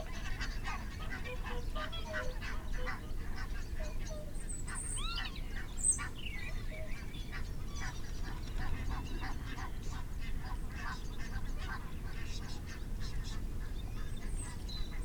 canada geese 0.0 - 5.4
barnacle geese 0.0 - 5.7

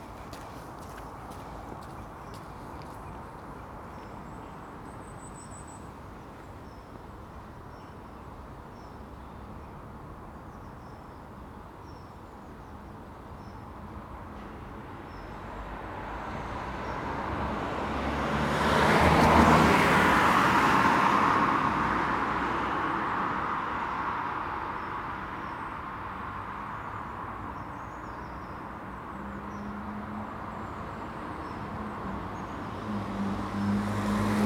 six walkers 0.0 - 4.1
Six runners 0.0 - 4.2

